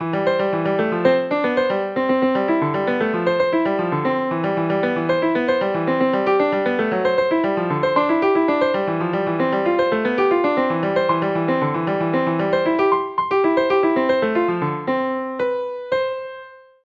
melody 0:00.1 - 0:16.4

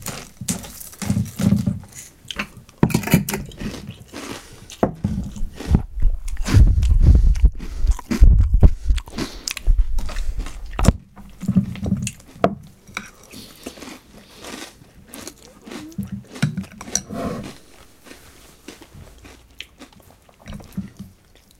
cereal 0:00.0 - 0:02.1
eat 0:00.0 - 0:21.5
cereal 0:10.0 - 0:21.0

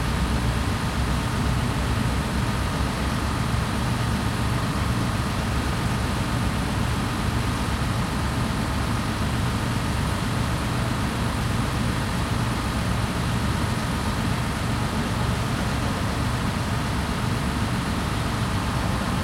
Stationary train at dock 0:00.0 - 0:19.2

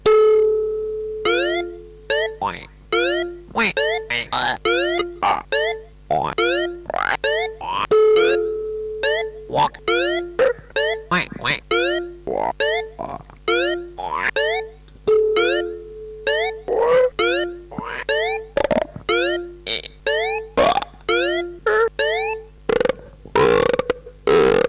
Frog voices 0:02.1 - 0:07.9
Frog voices 0:09.1 - 0:14.6
Frog voices 0:16.6 - 0:24.6

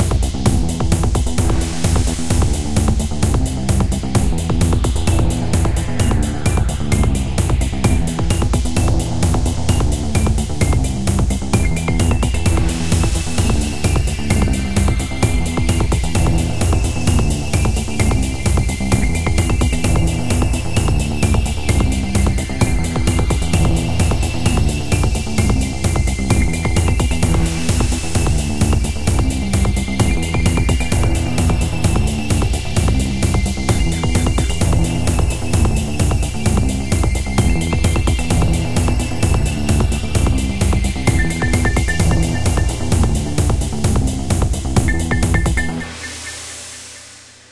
RPG game music 0:00.6 - 0:47.0

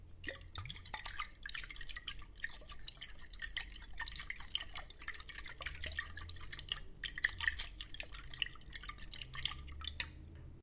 Water sloshing inside a glass bottle 0:00.0 - 0:10.6

